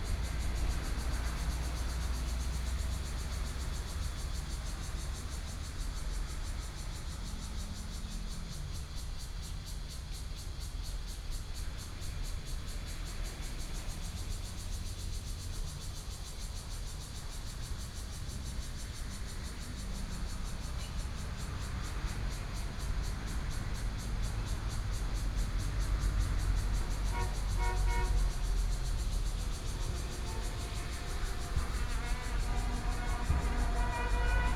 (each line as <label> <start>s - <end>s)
Traffic Sound 0.0s - 6.7s
Cicadas sound 0.0s - 34.5s
Traffic Sound 17.2s - 34.5s